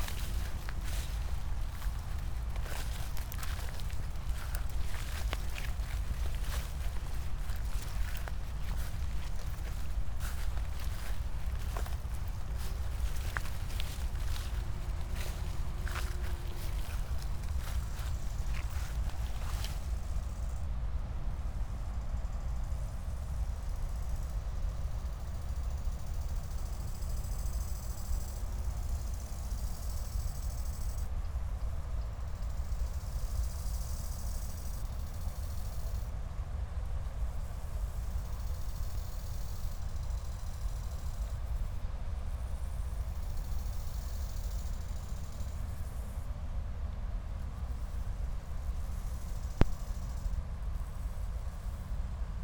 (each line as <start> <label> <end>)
0.0 high grass 20.5
0.0 grasshoppers 20.6
0.0 late crickets 52.4
32.2 grasshoppers 36.1
37.4 grasshoppers 46.3
47.6 grasshoppers 52.0